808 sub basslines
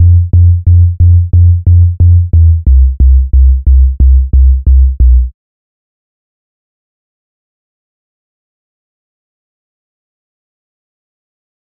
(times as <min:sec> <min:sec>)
0:00.0 0:05.3